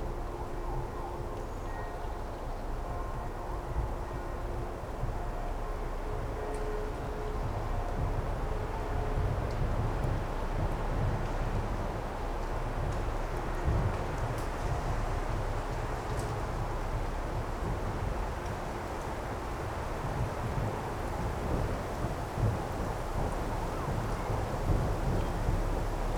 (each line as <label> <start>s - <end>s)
gusts of wind 7.4s - 26.1s